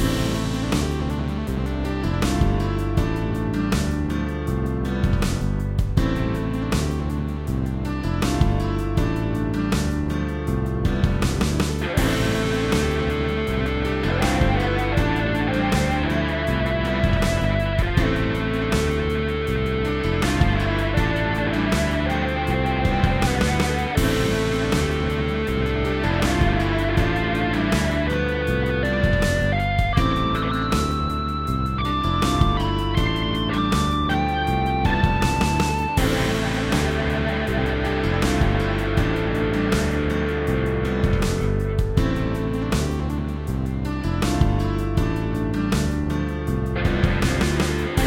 guitar 0:00.0 - 0:48.0

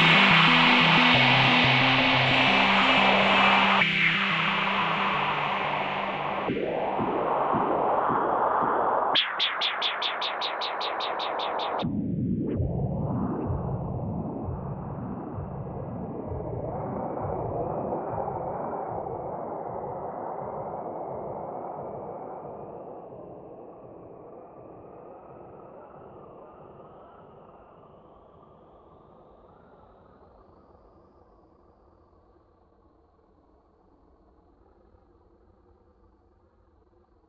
dancing melody 0:00.0 - 0:09.1
whispy lead 0:00.0 - 0:12.0
Warm, drifting pads 0:00.0 - 0:19.2

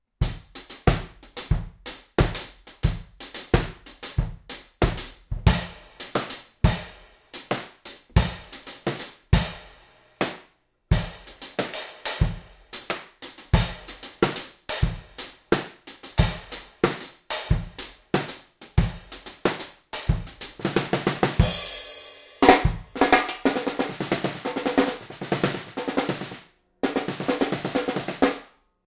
hi hats w tambourine on top 0:00.2 - 0:28.5
snare 0:06.0 - 0:06.5
snare 0:07.4 - 0:12.2
snare 0:12.8 - 0:18.6
snare 0:19.2 - 0:19.8
snare 0:22.4 - 0:28.5

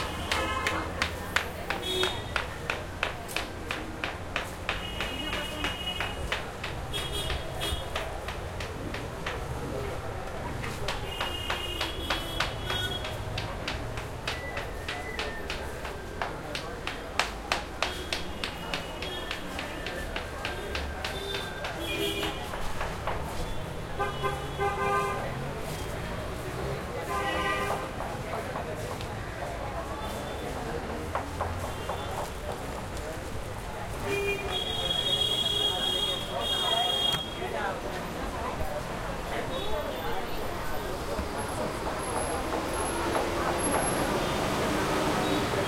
heavy busy crowd people vendors 0:00.0 - 0:45.6
+flute 0:14.2 - 0:16.7

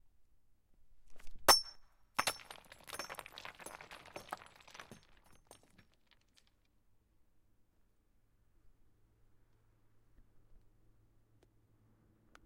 glassy stones being thrown 0:01.5 - 0:06.6

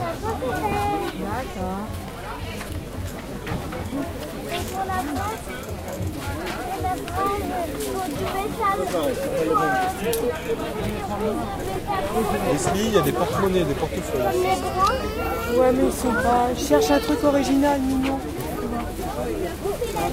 Voices 0:00.0 - 0:20.1

